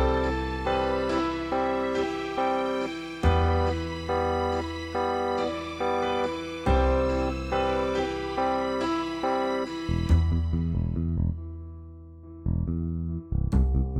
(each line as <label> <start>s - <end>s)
instrumental 0.0s - 13.9s